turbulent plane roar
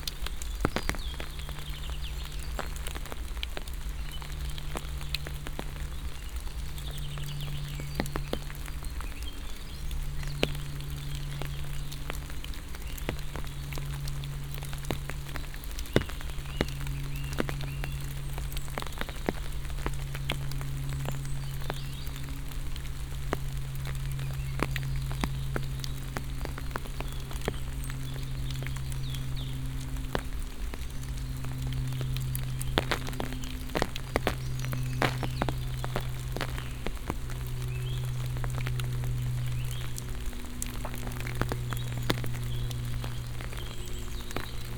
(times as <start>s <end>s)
21.7s 44.7s